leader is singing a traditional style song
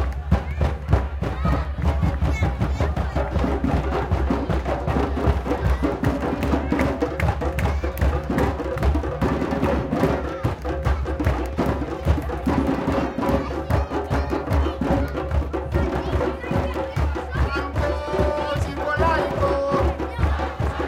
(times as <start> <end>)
12.9 20.8